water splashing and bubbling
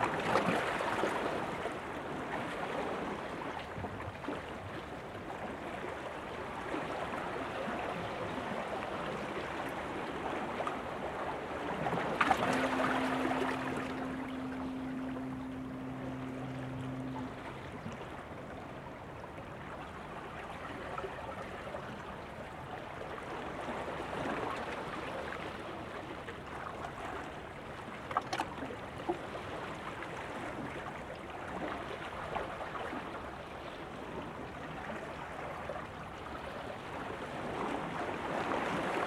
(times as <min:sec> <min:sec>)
0:10.5 0:21.1